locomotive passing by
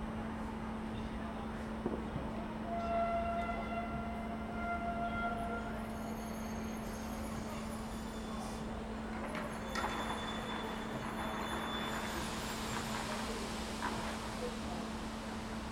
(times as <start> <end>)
9.1 15.7